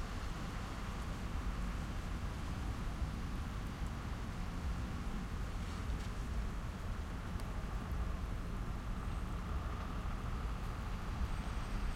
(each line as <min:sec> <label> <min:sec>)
0:00.0 cars 0:11.9
0:00.0 rain 0:11.9
0:00.0 trucks 0:11.9